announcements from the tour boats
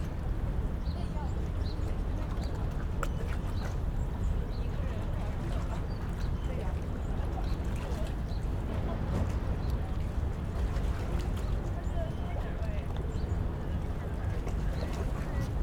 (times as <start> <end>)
11.1 15.5